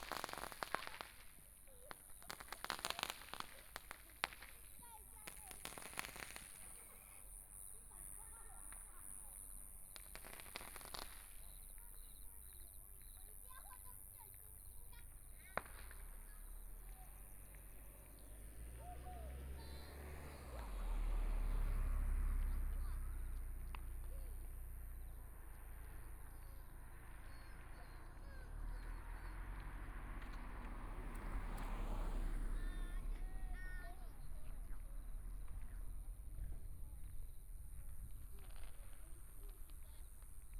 0.0s Kids playing firecrackers 40.5s
0.0s Traffic Sound 40.5s
0.0s Walking in the small streets 40.5s
13.2s Motorcycle Sound 38.6s

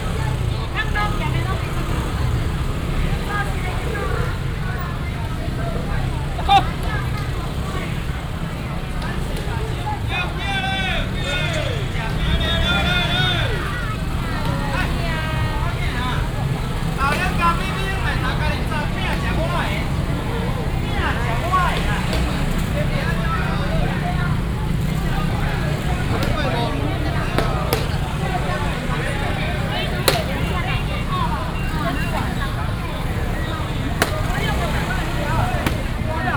0.0s Street vendors selling voice 36.3s
0.0s Very noisy market 36.3s
0.0s motorcycle sounds 36.3s

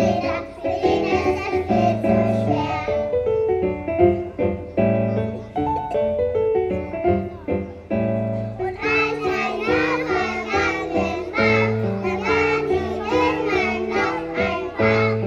0.0s kindergaren choir performing 3.4s
8.8s kindergaren choir performing 15.2s

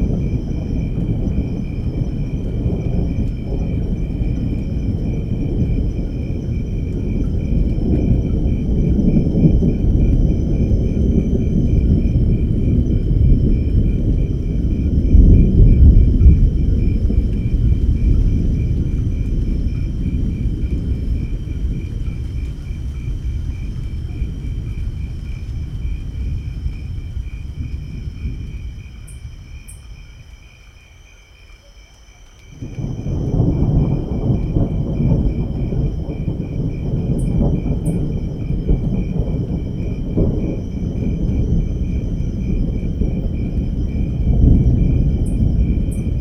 0.0s big thunders 30.5s
0.0s light rain 46.2s
32.5s big thunders 46.2s

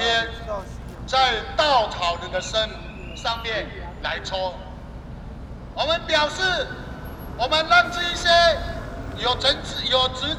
5.7s labor protests 10.3s

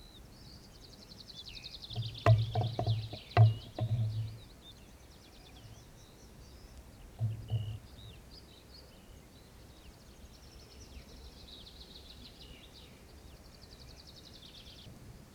2.0s plastic bottle in wind 4.4s

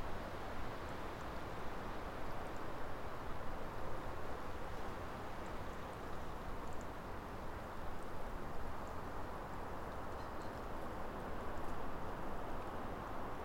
0.0s wind blowing through the birch woodland 13.4s
9.7s creaking of trees in the breeze 11.8s

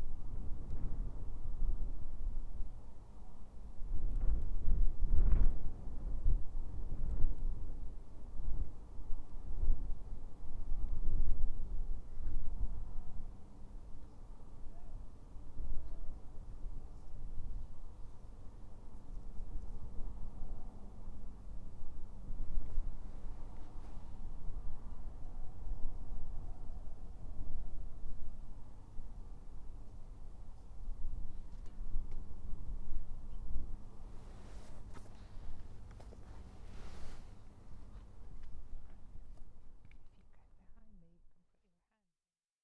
0.0s dull drone of the power station 40.8s

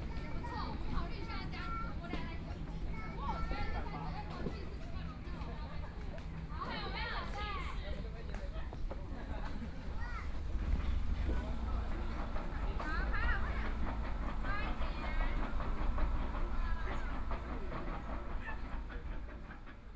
10.4s Tourist 19.7s

